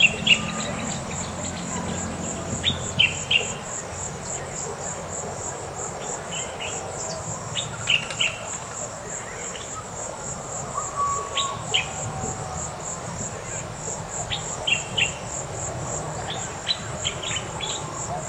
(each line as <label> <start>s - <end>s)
motorcycles 0.0s - 8.5s
birds 0.0s - 18.2s
cars in the distance 0.0s - 18.2s
crickets 0.0s - 18.2s